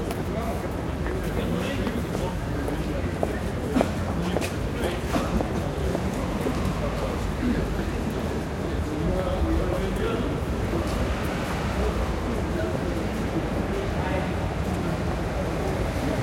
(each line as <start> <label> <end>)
0.0 pedestrians walking by 16.2
0.0 voices 16.2
0.2 cars passing slow 16.2